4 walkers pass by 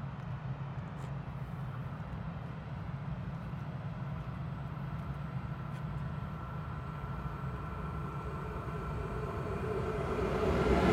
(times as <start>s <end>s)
3.2s 10.9s